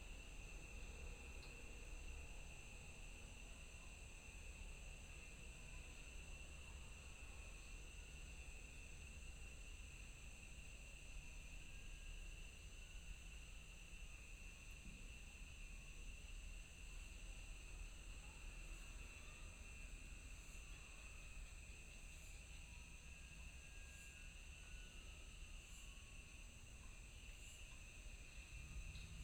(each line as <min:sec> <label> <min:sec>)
0:00.0 insects 0:29.2